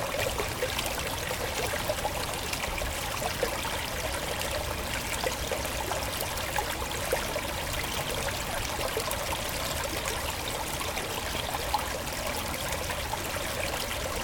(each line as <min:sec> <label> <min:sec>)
0:00.0 small river 0:14.2